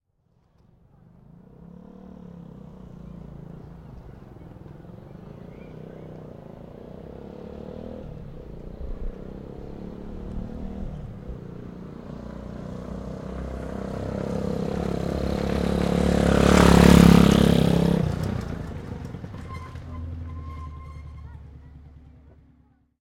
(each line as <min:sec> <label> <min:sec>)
0:01.0 Honda 125cc motorcycle riding past 0:22.8